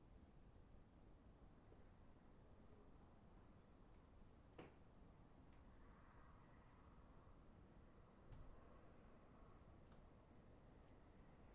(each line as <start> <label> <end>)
0.0 Crickets at night 11.5